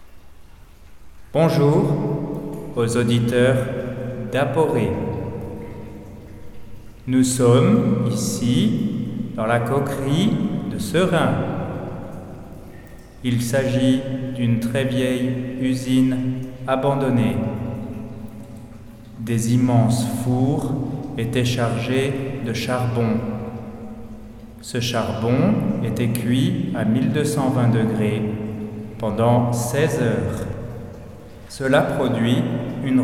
I'm explaining 0:01.3 - 0:02.1
I'm explaining 0:02.7 - 0:05.2
I'm explaining 0:07.0 - 0:11.7
I'm explaining 0:13.2 - 0:17.6
I'm explaining 0:19.2 - 0:23.5
I'm explaining 0:24.6 - 0:30.6
I'm explaining 0:31.5 - 0:33.0

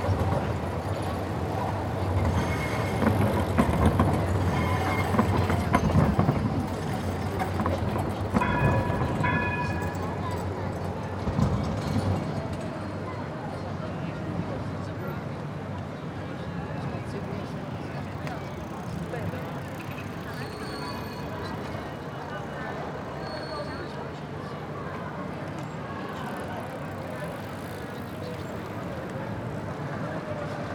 Trams 0:00.0 - 0:30.7
bikers 0:00.0 - 0:30.7
skaters 0:00.0 - 0:30.7

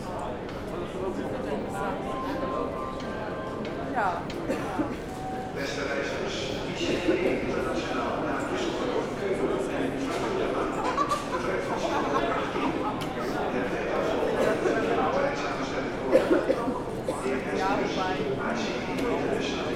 international train to Düsseldorf is announced 0:00.0 - 0:19.7
the train arrives 0:00.1 - 0:10.7

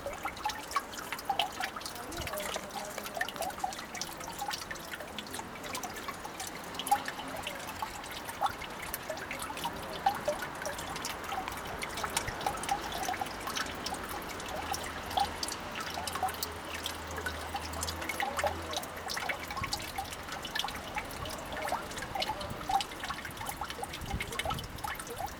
rain collected in the hole 0:00.0 - 0:25.3

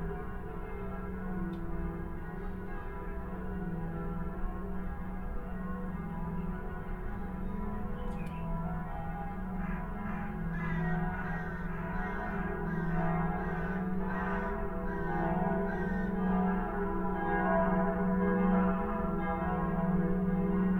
Church bells 0:00.0 - 0:20.7

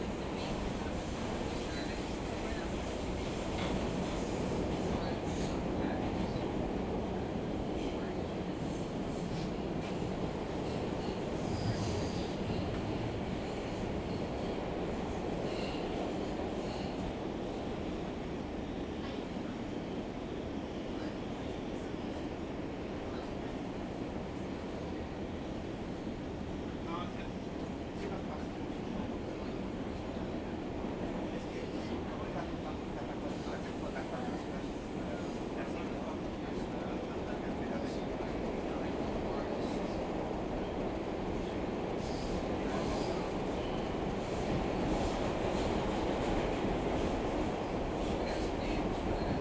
passengers 0:00.0 - 0:18.0
metro train trip 0:00.0 - 0:49.4
passengers 0:18.9 - 0:49.4

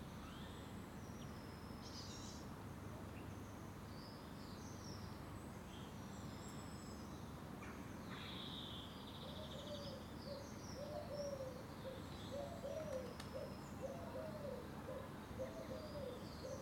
Birds flick through the shrubbery 0:11.9 - 0:14.3

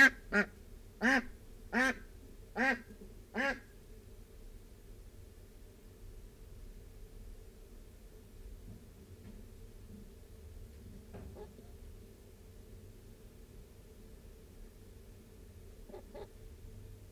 amazing warning noise - very huffy and puffy 0:00.0 - 0:17.1
Ducks and Humans interacting 0:11.4 - 0:11.7
Ducks and Humans interacting 0:15.9 - 0:16.3

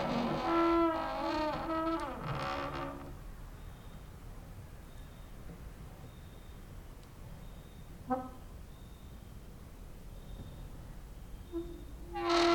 creaking with wooden doors 0:00.0 - 0:03.2
cricket outside 0:01.6 - 0:08.0
cricket outside 0:08.7 - 0:12.5
creaking with wooden doors 0:11.6 - 0:12.5

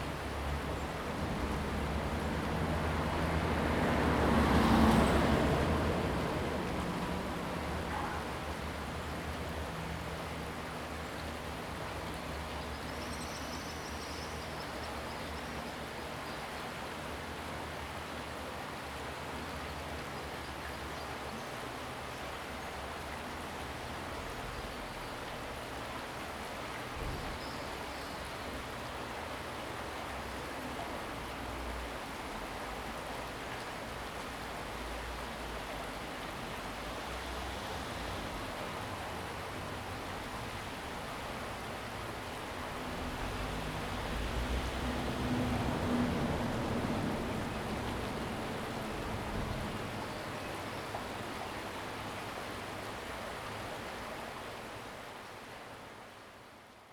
water streams 0:00.0 - 0:56.9

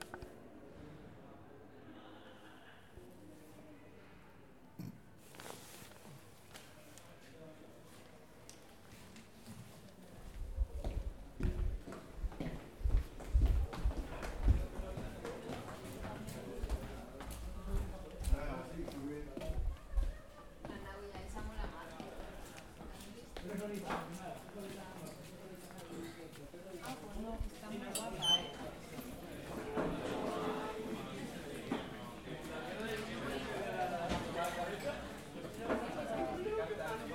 Bustle of people 0:00.0 - 0:37.1
Laughter 0:02.0 - 0:03.0
Footsteps of the corridors 0:05.3 - 0:34.7

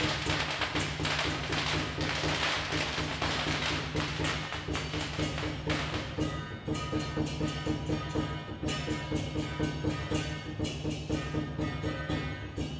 Traditional festival parade 0:00.0 - 0:12.7

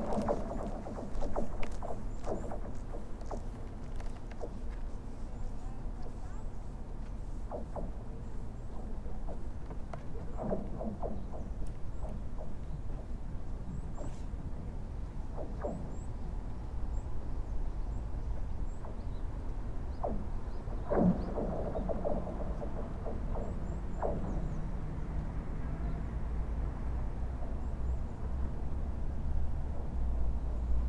River ice 0:00.0 - 0:04.5

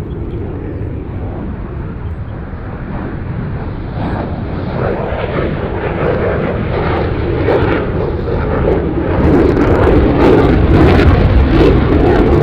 Birds sound 0:00.0 - 0:04.7

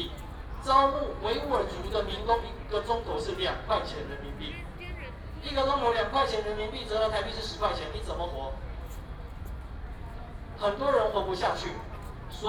People and students 0:00.0 - 0:12.4

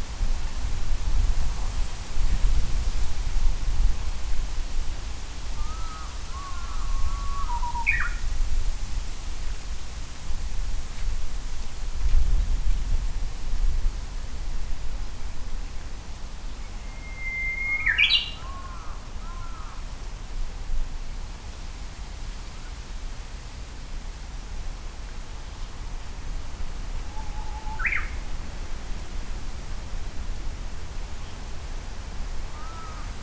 Japanese bush warbler 0:05.6 - 0:08.3
crow 0:05.6 - 0:07.9
Japanese bush warbler 0:16.5 - 0:19.8
crow 0:17.8 - 0:19.8
Japanese bush warbler 0:27.0 - 0:28.2
crow 0:32.5 - 0:33.2

